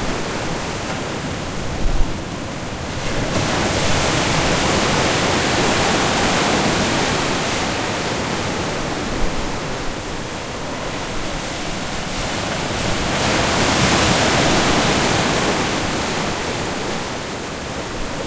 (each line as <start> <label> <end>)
0.0 Ocean 18.2
4.4 random people 8.0